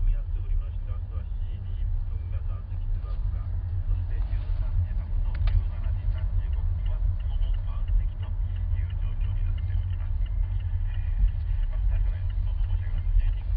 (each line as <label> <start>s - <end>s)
taxi ride 0.0s - 13.5s